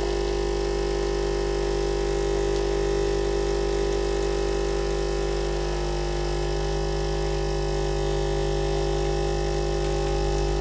Nespresso coffee machine operation 0:00.0 - 0:10.6

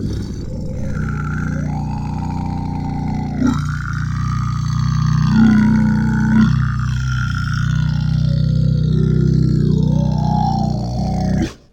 Creature Monster Alien Vocal 0:00.0 - 0:11.7

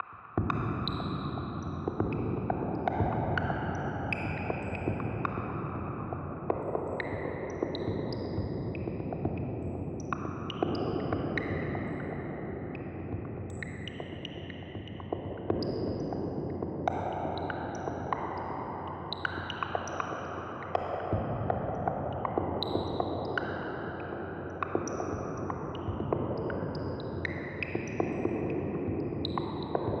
Percussion 0:00.0 - 0:30.0

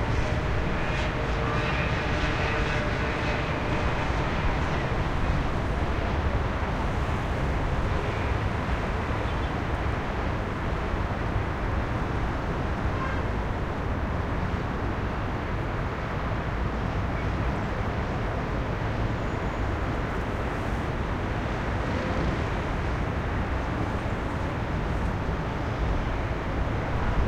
Heavy Traffic 0:00.0 - 0:27.2

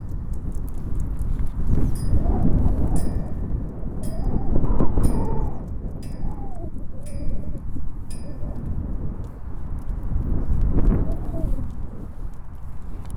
Tetherball chain being blown by the wind 0:00.0 - 0:11.6

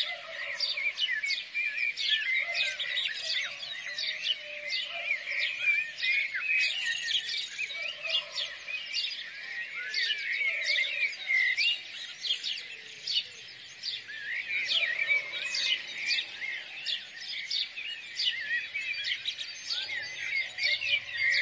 Black bird 0:00.0 - 0:21.4
House Sparrows chirping 0:00.0 - 0:21.4
Peacock 0:00.0 - 0:21.4
Rooster 0:14.6 - 0:16.2

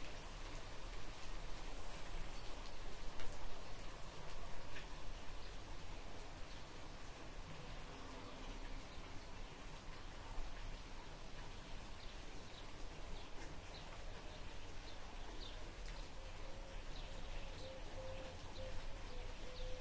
rain 0:00.0 - 0:19.8
birds 0:11.9 - 0:19.8

